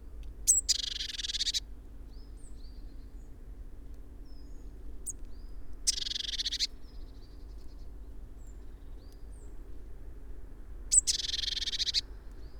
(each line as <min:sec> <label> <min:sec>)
0:00.5 Blue tit foraging 0:01.6
0:00.5 bird calls from great tit 0:01.6
0:00.5 blackbird 0:01.6
0:05.9 Blue tit foraging 0:06.7
0:05.9 bird calls from great tit 0:06.7
0:05.9 blackbird 0:06.7
0:10.9 Blue tit foraging 0:12.0
0:10.9 bird calls from great tit 0:12.0
0:10.9 blackbird 0:12.0